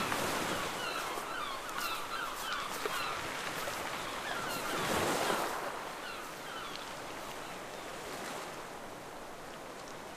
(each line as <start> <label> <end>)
0.0 strong waves 10.1
0.0 wind 10.1